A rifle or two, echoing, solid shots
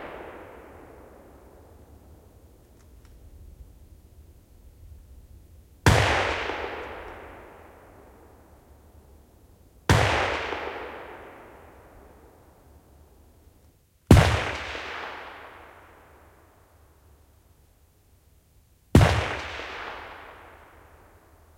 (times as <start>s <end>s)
0.0s 2.4s, 5.8s 8.3s, 9.9s 12.2s, 14.1s 16.2s